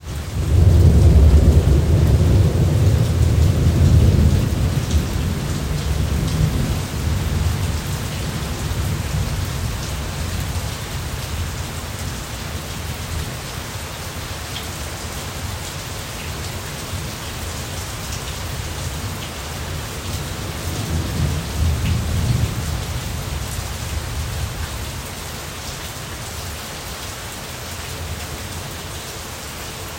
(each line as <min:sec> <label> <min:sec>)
0:00.0 Heavy rainstorm 0:29.9
0:00.4 thunder 0:07.9